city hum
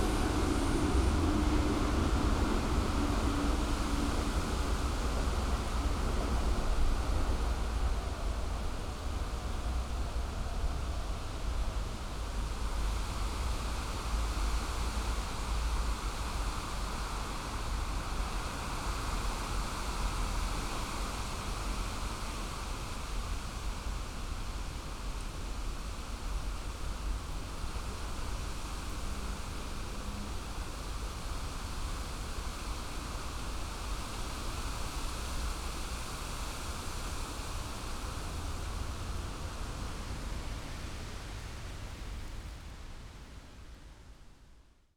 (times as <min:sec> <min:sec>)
0:00.0 0:16.0